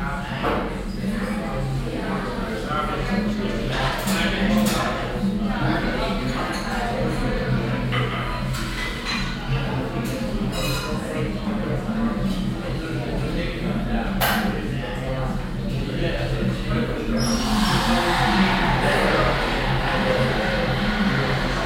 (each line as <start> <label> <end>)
17.0 cafemaschine 21.6
17.2 stimmengewirr 21.6